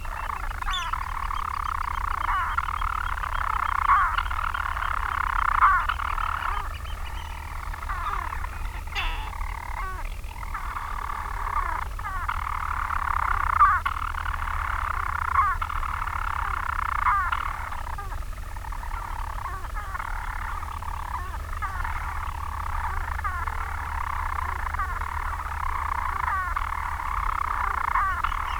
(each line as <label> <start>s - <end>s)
storm petrel singing 0.0s - 10.3s